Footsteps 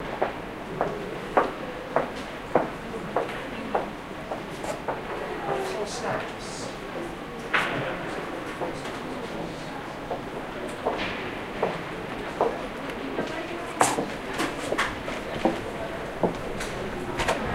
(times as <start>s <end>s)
7.6s 17.5s